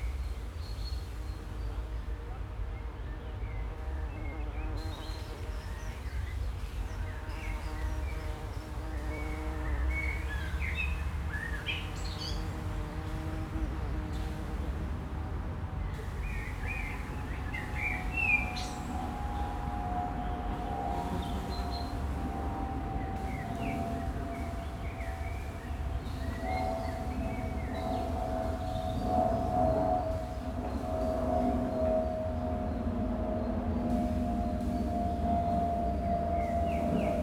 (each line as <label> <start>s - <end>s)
bees inside the canola blossoms 3.7s - 6.0s
bees inside the canola blossoms 6.8s - 19.6s
plane crossing the sky 18.0s - 37.2s